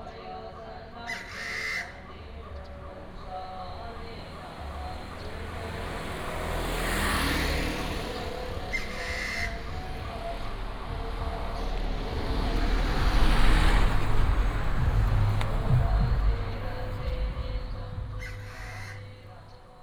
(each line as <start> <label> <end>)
0.0 Funeral chanting 19.8
0.0 Traffic sound 19.8
1.0 Bird call 2.8
8.2 Bird call 12.3
15.4 Bird call 19.7